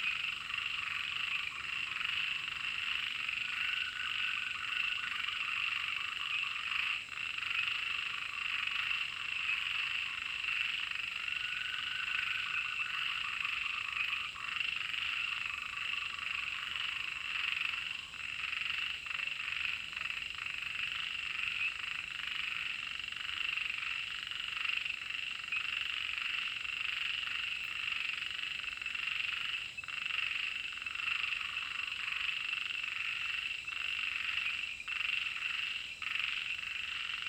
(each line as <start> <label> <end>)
0.0 Frogs chirping 37.2